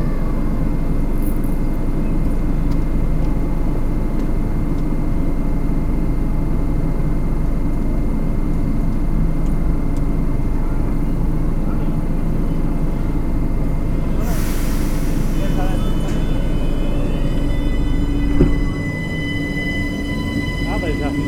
0.0s the train is arriving 21.2s

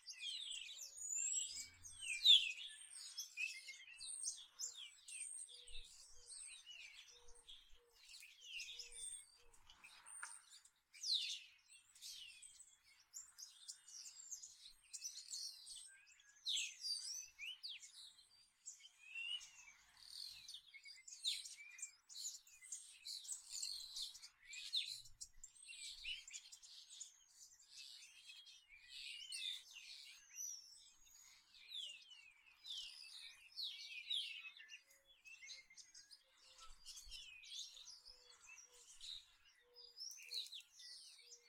0.0s Birds on trees 41.4s

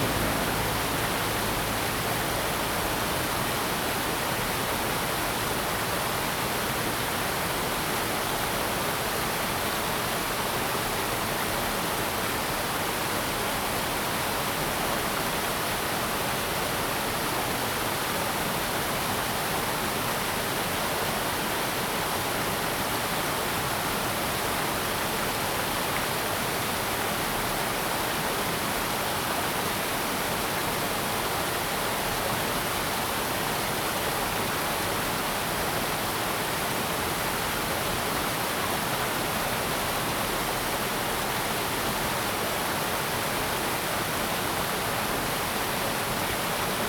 0.0s traffic sound 3.6s

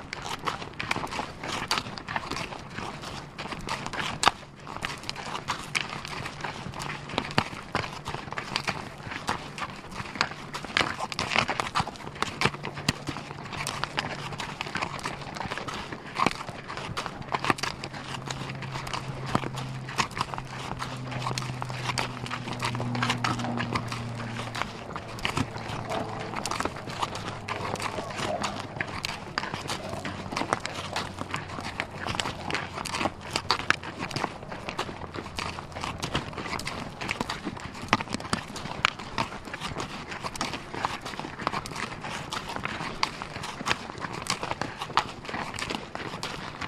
0.0s Mule Hoofs 46.6s

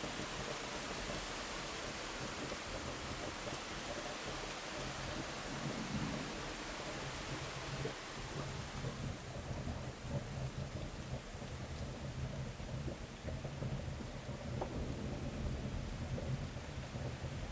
0.0s very hard rain 17.5s
5.2s beginning thunderstorm 11.2s
12.0s beginning thunderstorm 17.5s

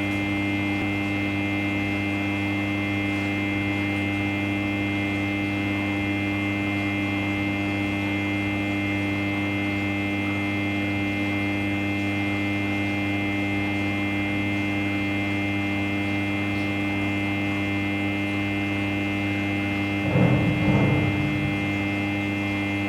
0.0s power plant alimenting two big pumps 22.8s

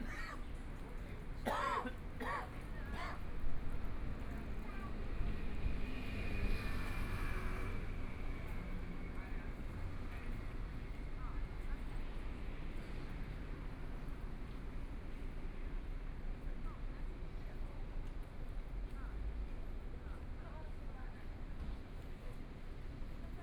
2.8s Traffic Sound 10.1s

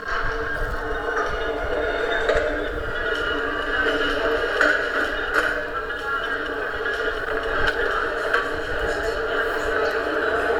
0.0s Sendung Radio FSK/Aporee 10.5s

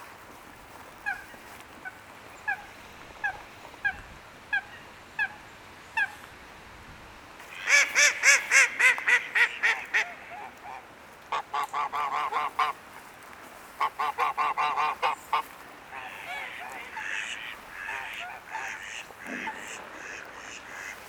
0.8s Common Moorhen 6.2s
0.9s unhappy geese 5.4s
1.0s Mallard 5.4s
7.4s unhappy geese 21.0s
7.4s Mallard 12.8s
7.4s Common Moorhen 21.0s
13.7s Mallard 21.0s

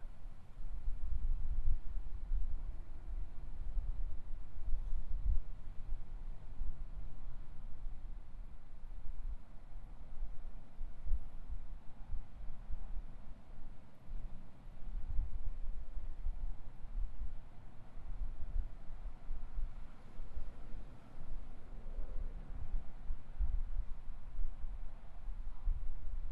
0.0s wind 26.3s
0.0s cars passing on the freeway 26.3s

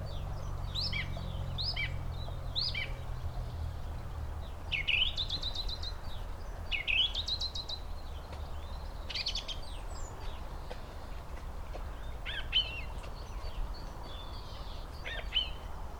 0.0s bird singing 3.8s
4.4s bird singing 11.0s
11.8s bird singing 15.8s

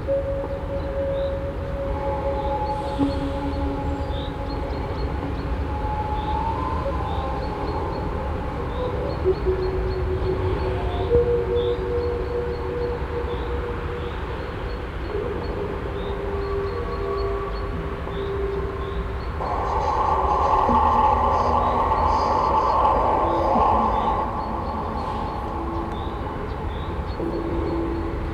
19.4s strett traffic 27.3s

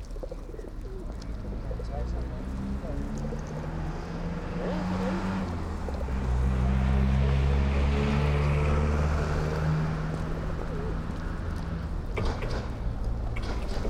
0.0s locals walking 13.8s
0.0s pigeons 13.8s
0.0s trams passing by 13.8s

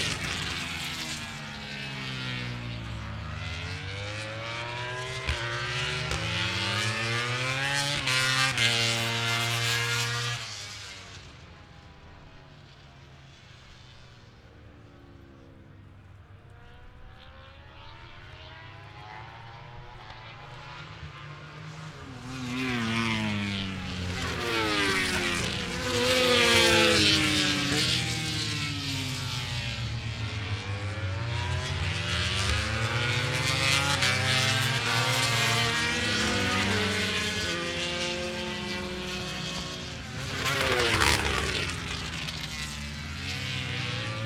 0.0s 990cc bikes 44.2s

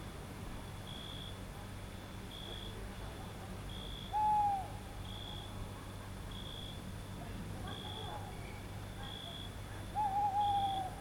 1.5s people 11.0s
3.7s owl 5.5s
7.7s owl 11.0s

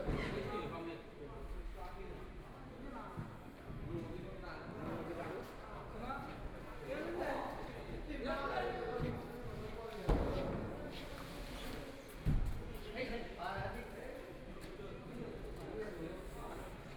0.0s Construction workers are arranged exhibition 16.9s

